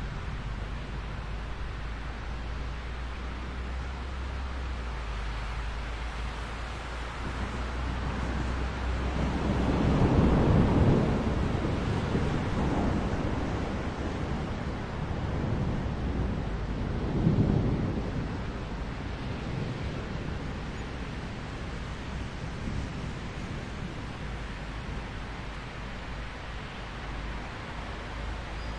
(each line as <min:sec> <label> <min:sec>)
0:00.0 Heavy rain 0:28.7
0:00.0 road traffic 0:28.7
0:07.1 thunders 0:26.3